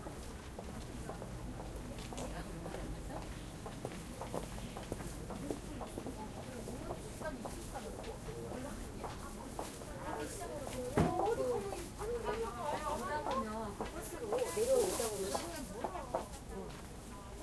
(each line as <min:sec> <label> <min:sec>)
0:00.0 steps 0:17.4
0:02.1 People talking in Korean 0:17.4